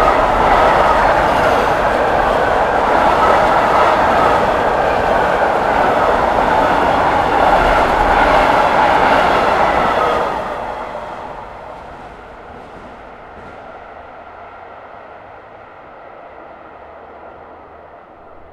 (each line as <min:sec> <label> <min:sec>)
0:00.0 passing by cargo-train 0:18.5